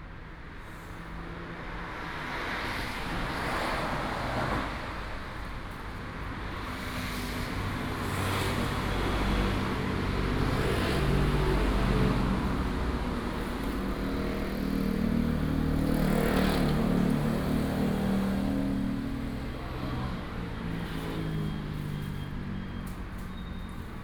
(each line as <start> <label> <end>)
1.0 Traffic Sound 24.0